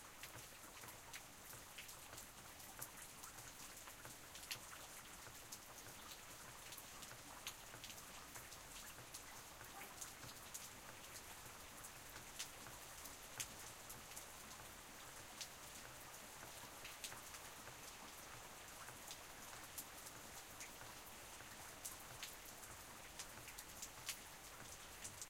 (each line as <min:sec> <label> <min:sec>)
0:00.0 Very light rain 0:25.2
0:09.6 dog barks in the background 0:10.4